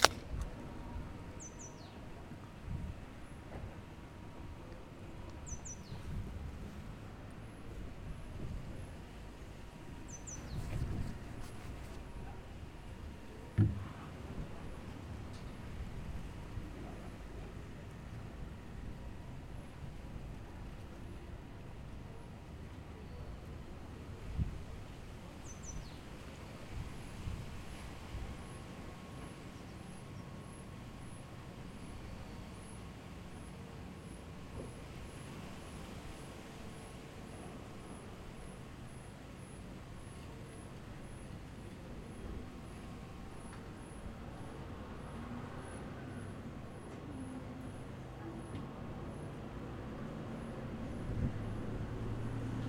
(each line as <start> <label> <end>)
5.4 Birds tweeting 6.1
10.1 Birds tweeting 10.7
44.6 Cars passing by 52.6